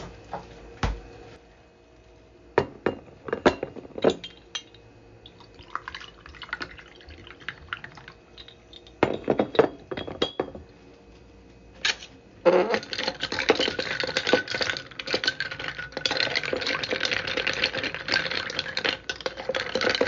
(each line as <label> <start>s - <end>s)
ice 12.5s - 20.0s
stir 12.7s - 20.0s